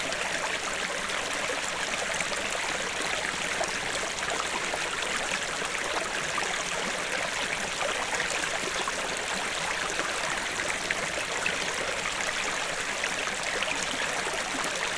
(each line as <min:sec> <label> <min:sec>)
0:00.0 small stream 0:14.9